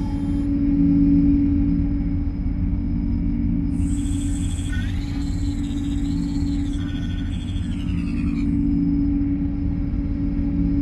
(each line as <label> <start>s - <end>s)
spaceship cockpit noises 3.7s - 10.5s